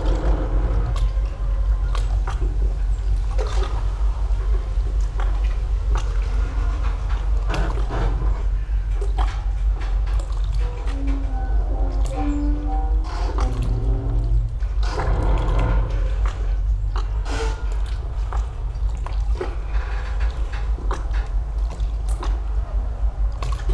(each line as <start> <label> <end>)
0.0 passing motorboats 23.7
0.0 squeaking boat 23.7
0.0 waves lapping against the quay wall 23.7